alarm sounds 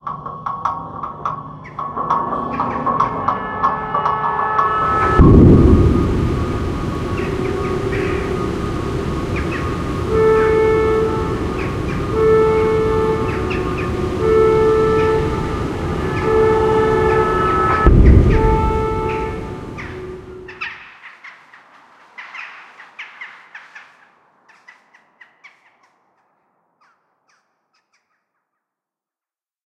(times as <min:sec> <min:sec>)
0:02.6 0:20.6